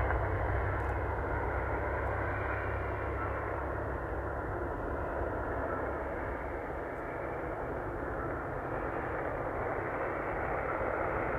vehicle starts roaring 0.0 - 5.8
jet passes high above 0.0 - 11.3

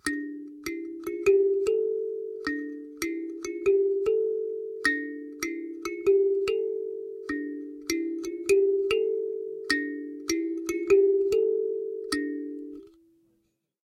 cheap kalimba 0.0 - 13.0

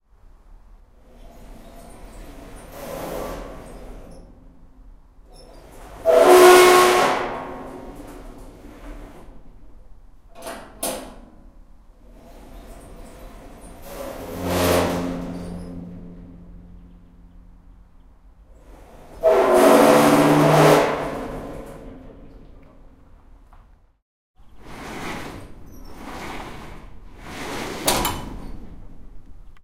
Squeaky metal bin 5.3 - 9.1
Squeaky metal bin 12.2 - 17.9
Squeaky metal bin 18.5 - 23.0
Squeaky metal bin 24.4 - 29.1

